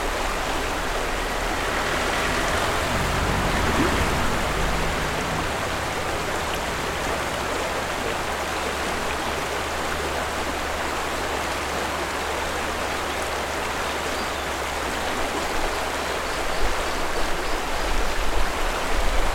0.0s río Porma 19.3s

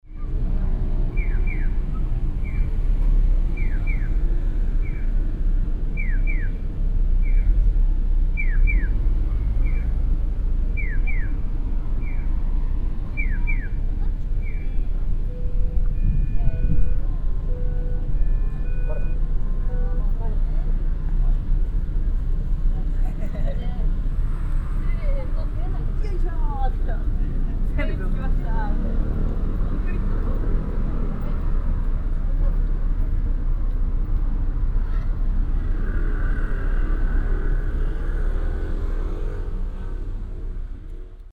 0.0s Traffic 41.3s
0.2s birdlike traffic sign 7.6s
8.2s birdlike traffic sign 22.4s

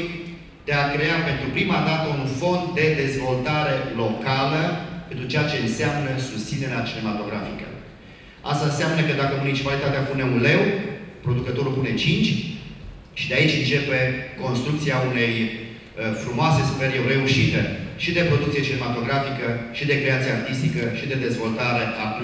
0.0s voice of the city mayor 22.2s

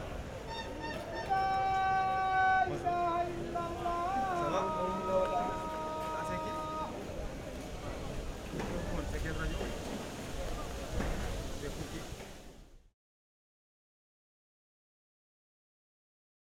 0.0s Muezzin 8.8s

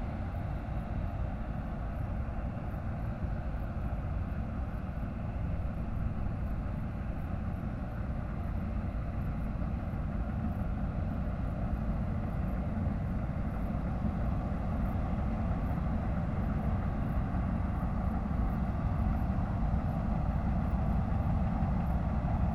0.0s combine harvester in the fields, harvesting the wheat 22.5s

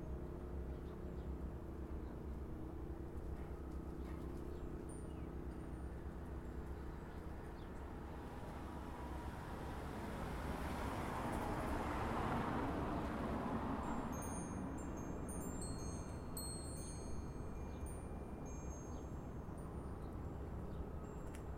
4.7s Wind Chimes 7.0s
13.4s Wind Chimes 21.5s

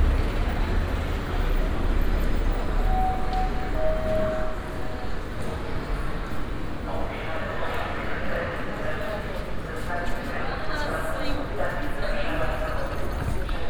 0.0s train announcements 6.3s
0.0s trains idling 6.3s

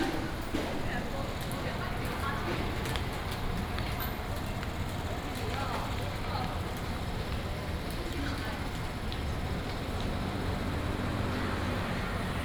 0.0s vendors are sorting out 12.4s
8.5s Traffic sound 12.4s

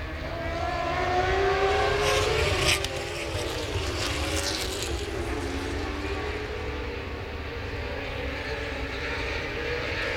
0.0s moto2 race 10.1s

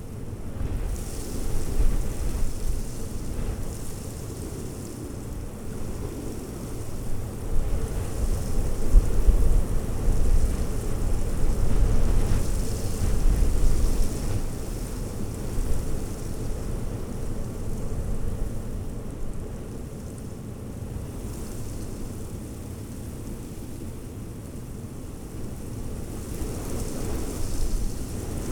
0.0s dry reed stirred by the wind during storm 28.5s

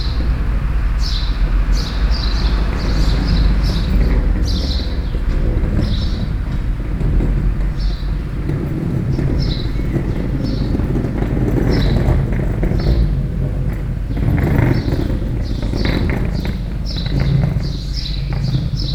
0.0s Birds 18.9s
0.0s a few cars 18.9s

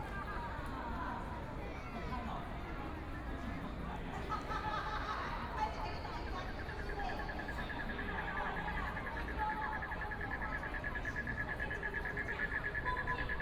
0.0s A lot of people waiting for fireworks 13.4s
5.8s Frogs sound 13.4s

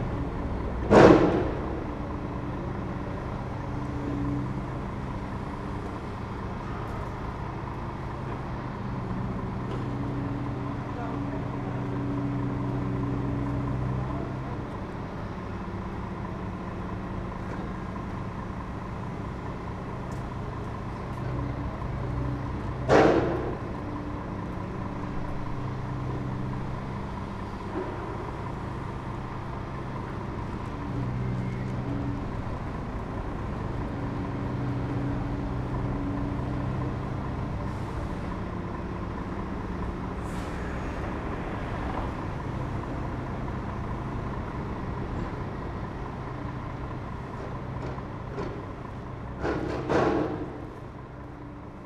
0.0s excavator loads a truck 51.8s

